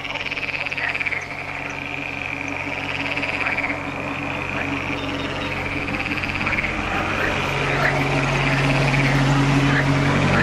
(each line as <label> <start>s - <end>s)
road from the slovak border 0.0s - 10.4s